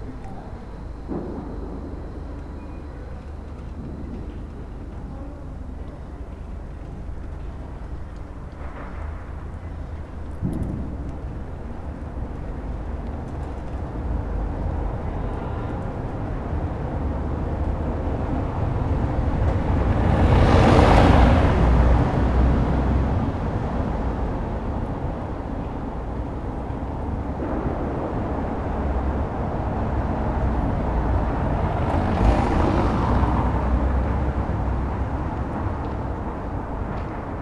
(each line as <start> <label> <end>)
0.0 passers by 37.4